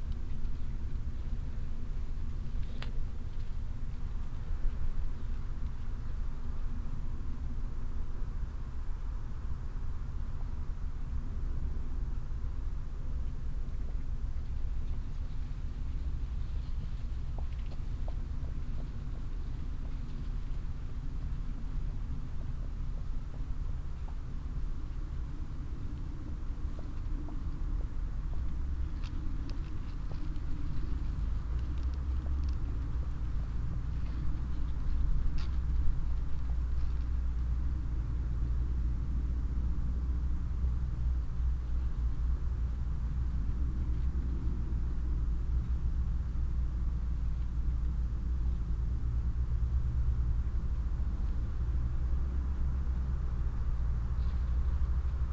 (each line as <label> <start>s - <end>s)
leaves, that move in the mild late summer wind 0.0s - 55.3s
horse moving uphill 13.5s - 55.3s